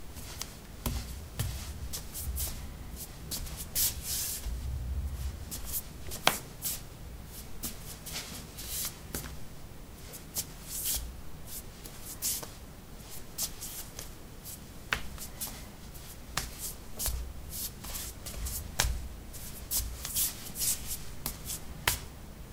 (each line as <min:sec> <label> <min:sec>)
0:00.2 barefeet shuffle tap 0:02.6
0:14.9 barefeet shuffle tap 0:15.6
0:16.3 barefeet shuffle tap 0:19.1
0:21.2 barefeet shuffle tap 0:22.1